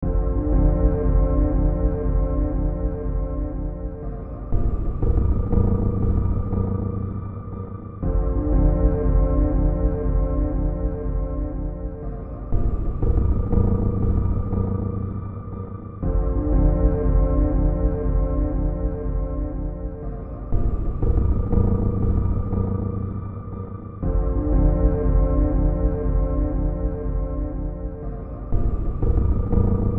Drone 0:00.0 - 0:29.9

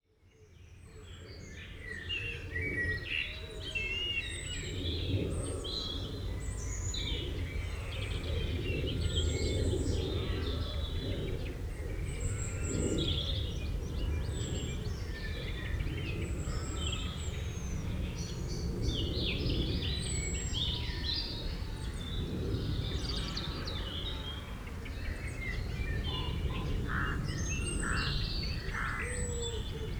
birds 0:04.7 - 0:29.9
animals 0:22.7 - 0:29.9

